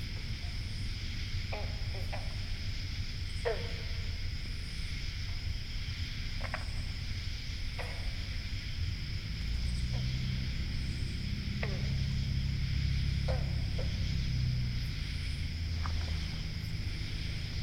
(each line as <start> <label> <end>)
0.0 frogs 17.6